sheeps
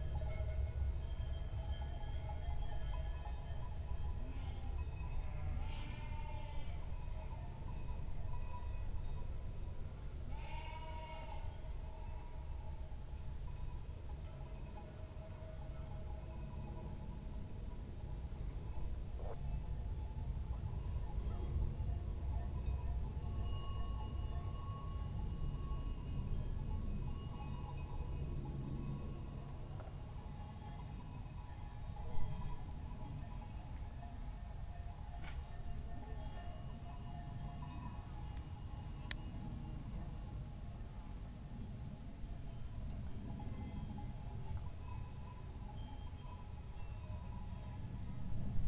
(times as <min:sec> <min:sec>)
0:02.4 0:08.7